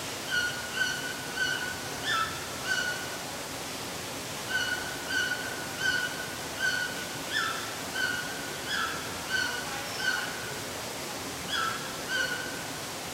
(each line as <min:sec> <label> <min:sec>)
0:00.0 waterfall 0:13.1
0:00.3 Red-billed Toucan calling 0:03.0
0:04.5 Red-billed Toucan calling 0:10.4
0:11.5 Red-billed Toucan calling 0:12.6